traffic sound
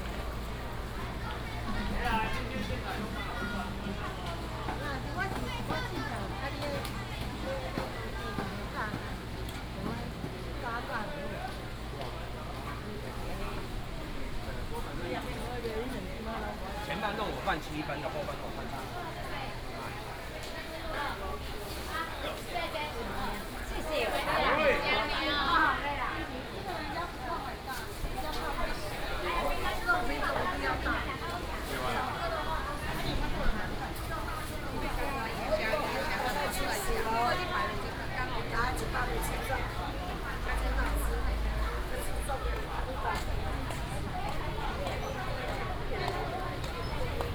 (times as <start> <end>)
25.1 47.3